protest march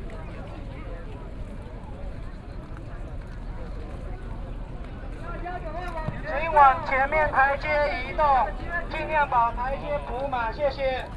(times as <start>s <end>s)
5.3s 11.1s